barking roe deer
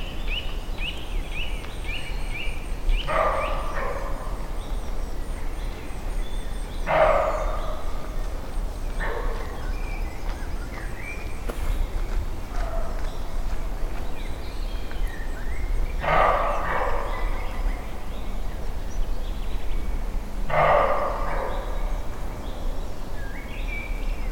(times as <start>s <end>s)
6.8s 8.2s, 16.0s 17.6s, 20.5s 22.0s